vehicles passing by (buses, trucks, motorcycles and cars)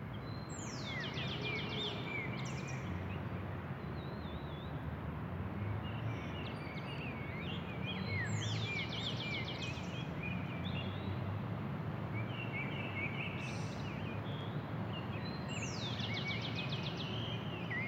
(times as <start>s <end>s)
1.2s 15.1s